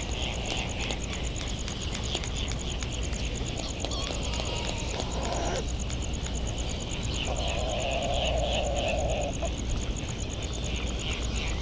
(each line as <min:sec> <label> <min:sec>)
0:00.0 a cricket ticks away the seconds 0:11.6
0:00.1 calls and bill clapperings from laysan alabatross 0:09.6
0:03.6 flight calls and calls from bonin petrels 0:05.8
0:07.0 flight calls and calls from bonin petrels 0:09.5